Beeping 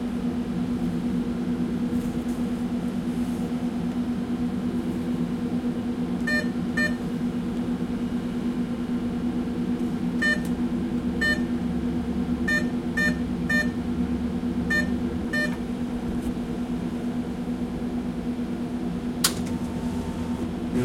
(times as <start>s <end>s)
14.7s 15.6s